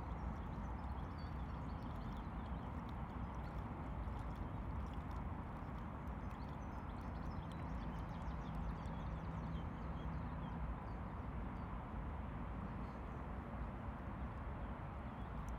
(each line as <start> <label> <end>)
0.0 traffic from the highway on the opposite bank 15.5